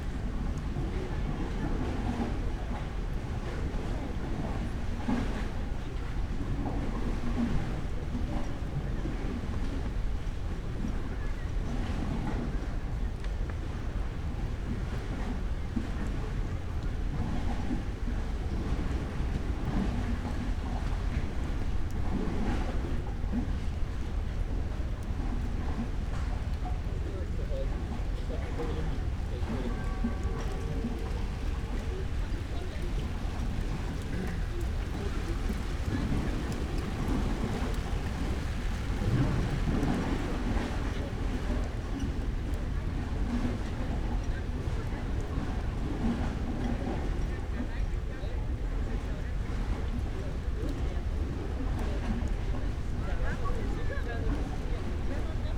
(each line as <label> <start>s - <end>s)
light rain 0.0s - 55.5s
people seeking for hiding on the pier 24.1s - 46.0s